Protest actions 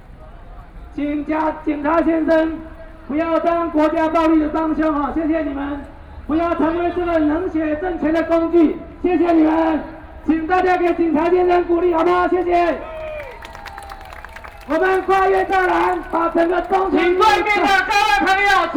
12.7 18.7

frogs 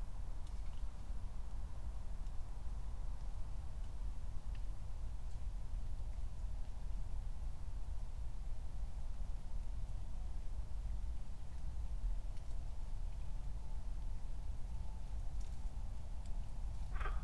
16.9 17.2

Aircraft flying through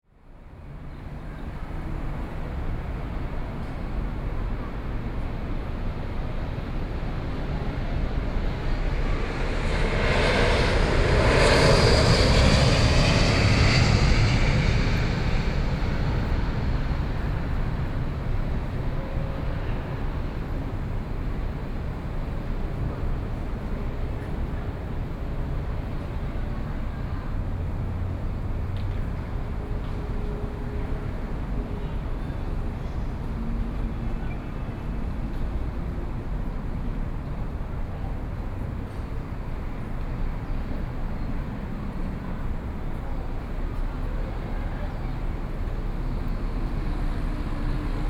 7.0 20.0

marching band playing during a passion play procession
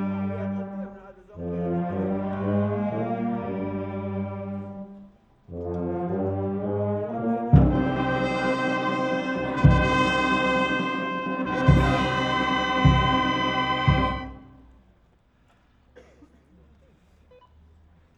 5.6 14.7

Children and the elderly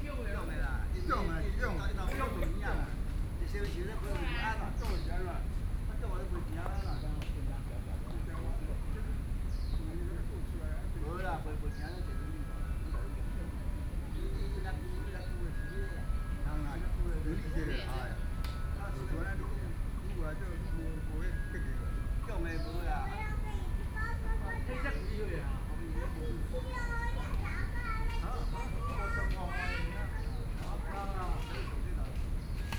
11.1 32.7

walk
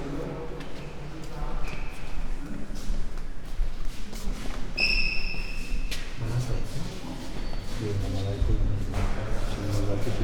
0.6 4.8

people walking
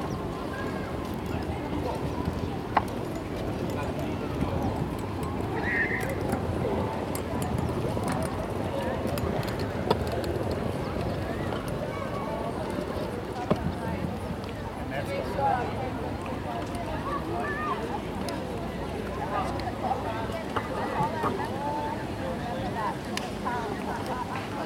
0.1 14.9

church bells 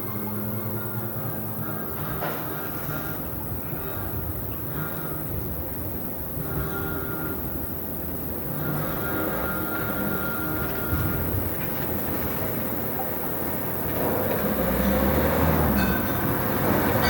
14.5 17.0

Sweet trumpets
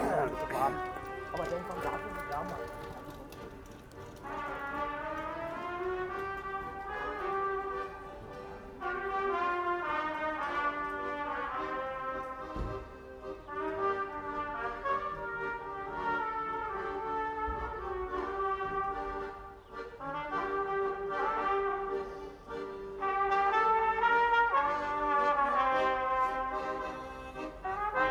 8.8 12.6, 13.5 28.1

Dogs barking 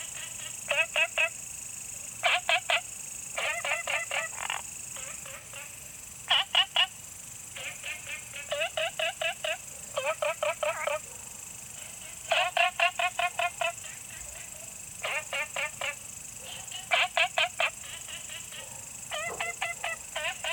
18.5 20.5

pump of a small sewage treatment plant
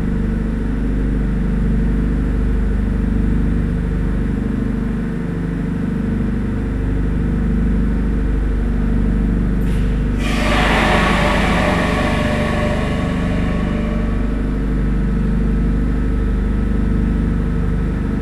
8.6 15.6

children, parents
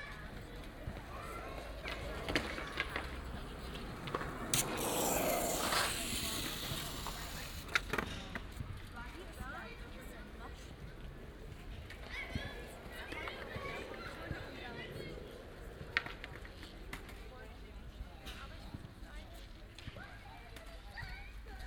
0.0 3.2, 19.8 21.6

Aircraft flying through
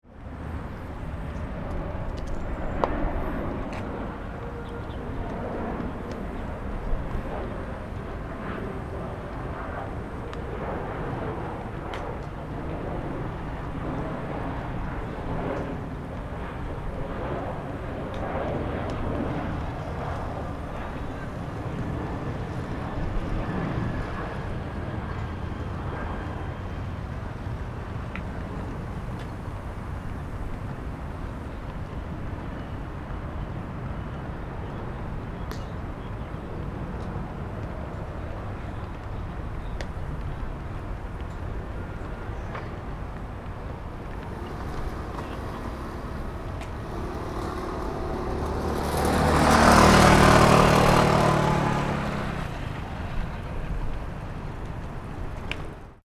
1.2 24.8, 43.3 55.8

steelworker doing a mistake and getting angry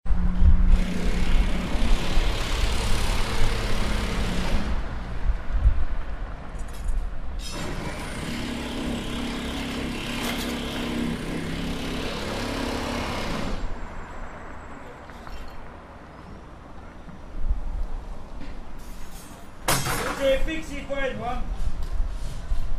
18.8 21.5

